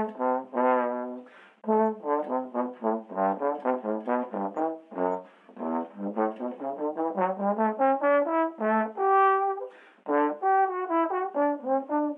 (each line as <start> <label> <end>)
0.0 playing the trombone 12.1